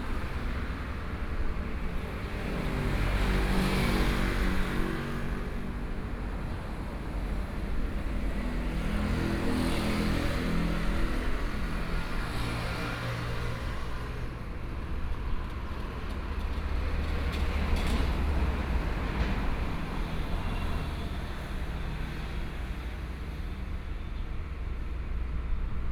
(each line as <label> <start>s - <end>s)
Traffic Sound 0.0s - 25.9s
Trains traveling through 10.1s - 25.9s